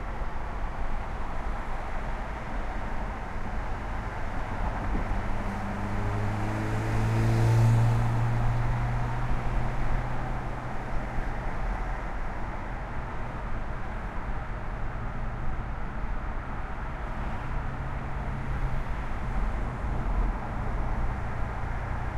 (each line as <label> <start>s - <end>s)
traffic 0.0s - 22.1s